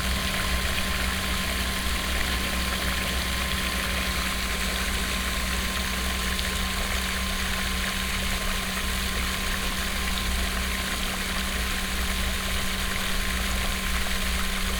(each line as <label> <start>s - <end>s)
operating pump 0.0s - 14.7s